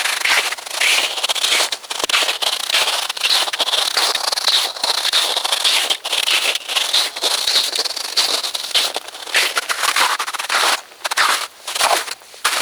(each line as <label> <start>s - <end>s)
footsteps 0.0s - 12.6s